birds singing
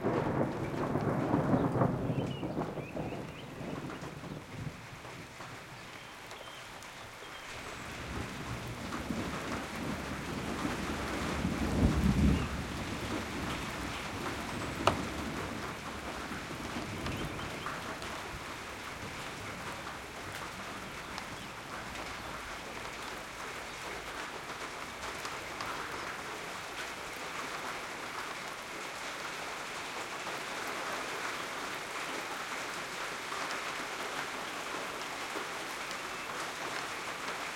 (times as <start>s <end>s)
1.6s 4.4s, 5.8s 8.0s, 16.9s 17.9s